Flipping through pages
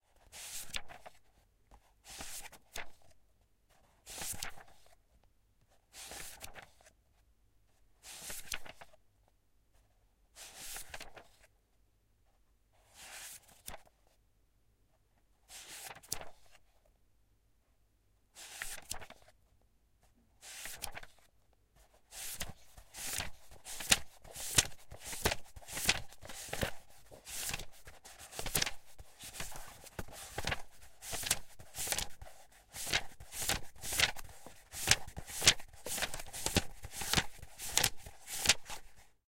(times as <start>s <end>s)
0.2s 5.0s, 5.9s 7.0s, 8.0s 9.0s, 10.4s 11.5s, 12.8s 14.0s, 15.5s 16.6s, 18.4s 19.4s, 20.4s 39.1s